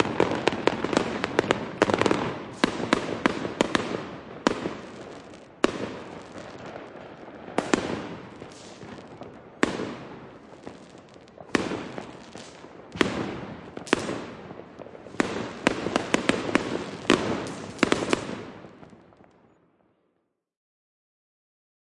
rockets 0:00.0 - 0:19.5
fireworks 0:00.0 - 0:20.0
natural close buildings echoes 0:00.0 - 0:20.4
sparks 0:04.5 - 0:06.9
sparks 0:07.6 - 0:18.4

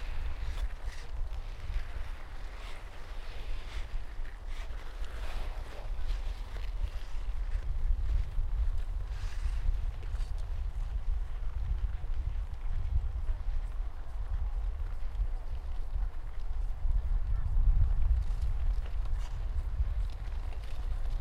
Heavy rumble of the wind 0:00.0 - 0:21.2
people skating 0:00.0 - 0:21.2
skiing 0:00.0 - 0:21.2

